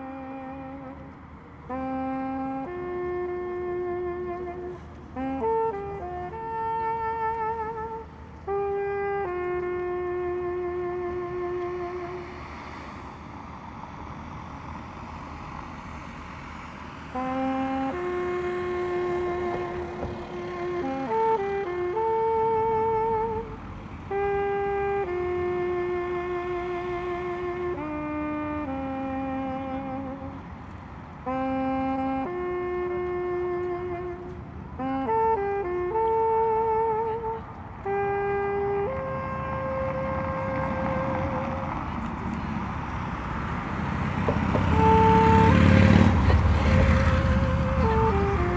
noisy street 0.0 - 48.5
street musician playing 0.0 - 48.5

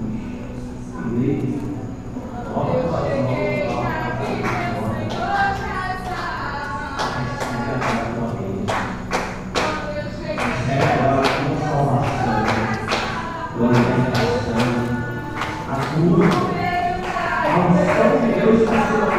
Two evangelical churches singing and praying 0.0 - 19.1

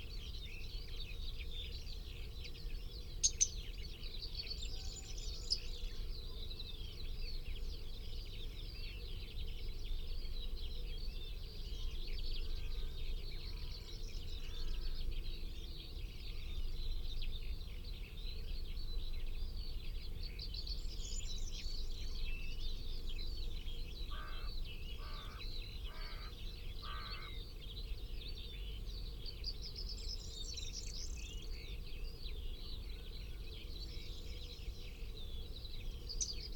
pheasant 1.4 - 6.6
Skylarks 3.0 - 3.8
pheasant 21.7 - 27.4
crow 24.1 - 27.4
Skylarks 28.5 - 36.5

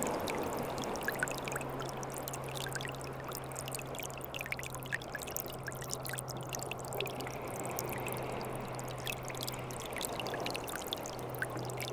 small streams, going to the sea 0.0 - 11.9

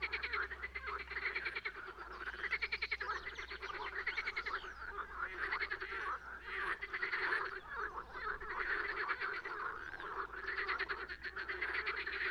many frogs 0.0 - 12.3

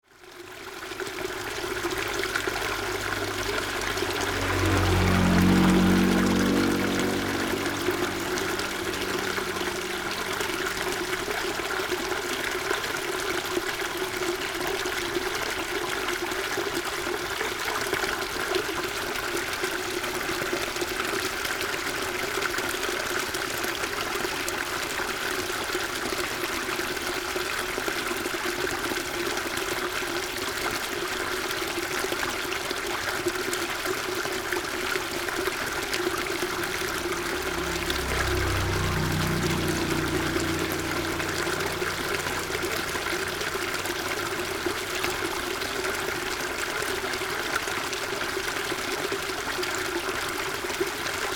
water 0.0 - 51.3
traffic sound 0.6 - 12.5
traffic sound 34.5 - 47.6

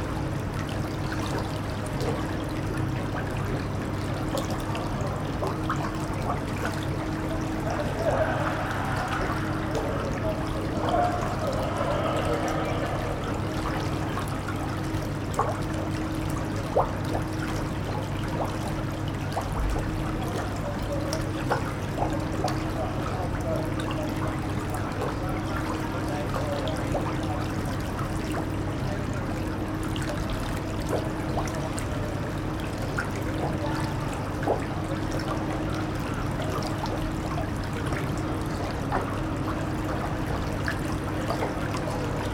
Brook 0.0 - 42.3

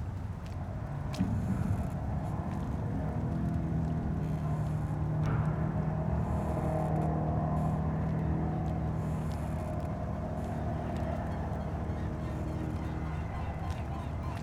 wind 0.0 - 14.4

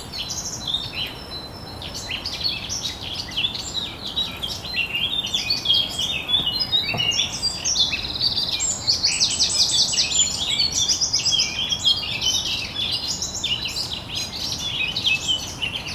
city 0.0 - 11.2
birds 0.0 - 15.9
river 0.0 - 15.9
walker 6.0 - 7.5

